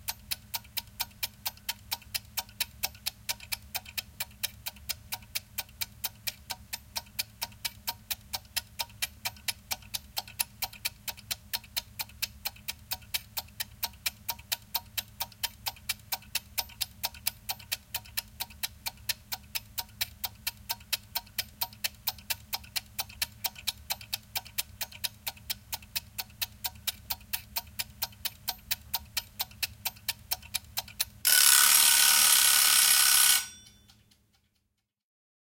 Egg timer, wind up 0.0 - 34.7
ringing 33.2 - 34.0

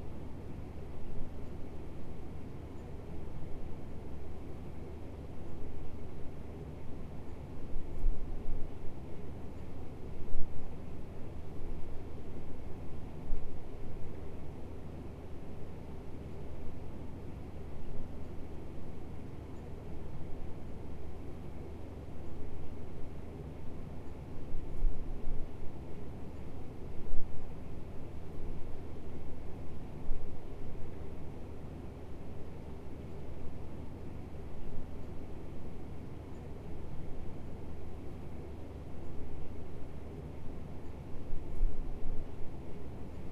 ceiling mount office air conditioner hum 0.0 - 43.3

